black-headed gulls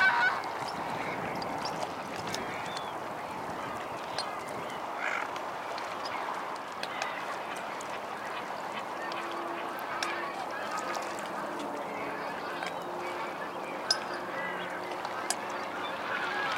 0.0 2.9, 4.8 5.4

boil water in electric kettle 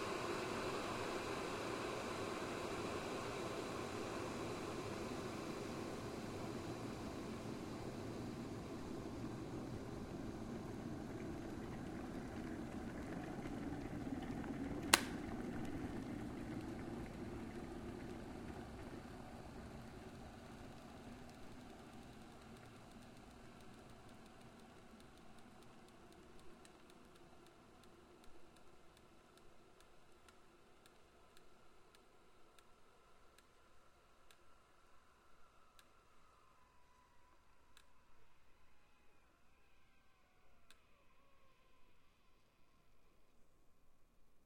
0.0 34.9

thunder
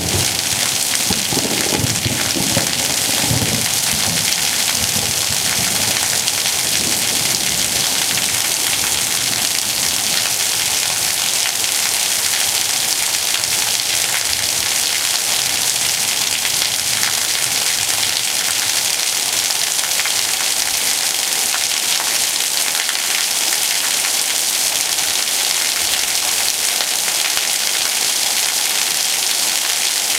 0.0 8.5

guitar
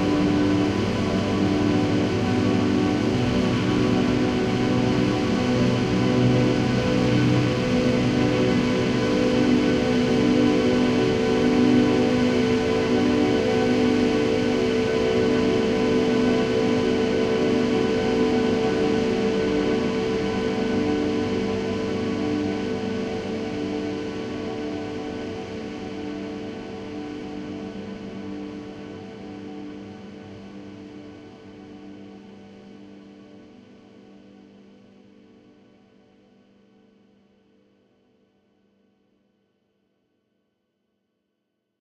0.0 32.1

